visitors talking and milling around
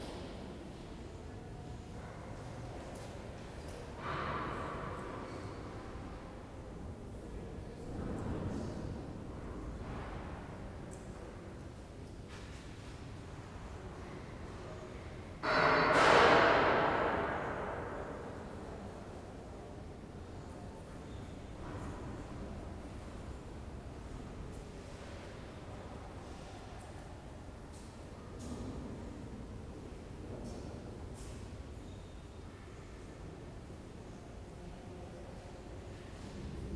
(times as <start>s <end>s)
18.0s 27.3s